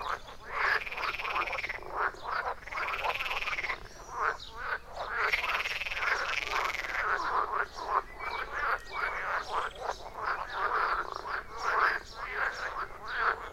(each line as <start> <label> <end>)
0.0 Douzens of frogs within a ditch 13.5
0.0 bird 13.5